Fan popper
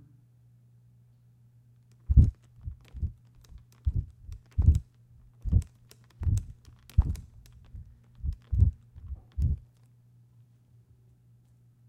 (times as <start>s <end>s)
1.9s 9.8s